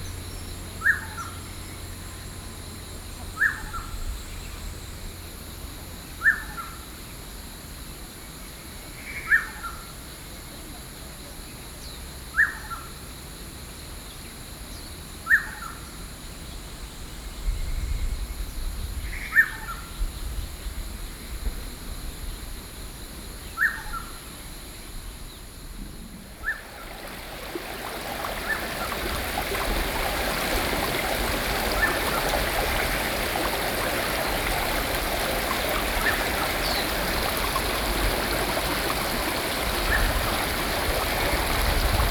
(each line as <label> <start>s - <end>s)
Stream 26.0s - 42.1s
Bird 27.6s - 40.9s